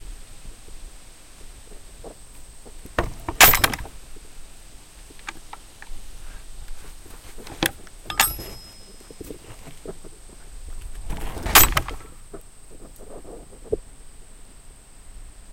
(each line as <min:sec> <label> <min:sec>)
0:02.8 Gate to outdoor horse pen opens and closes 0:04.0
0:03.0 Gate slams shut 0:03.9
0:03.0 latch 0:04.0
0:07.4 Gate to outdoor horse pen opens and closes 0:10.0
0:07.4 latch 0:08.9
0:11.0 Gate to outdoor horse pen opens and closes 0:12.2
0:11.2 latch 0:12.1